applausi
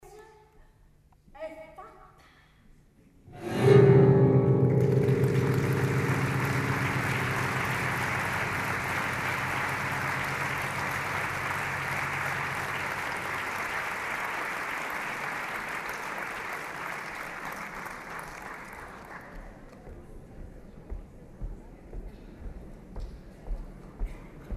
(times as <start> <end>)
3.3 17.6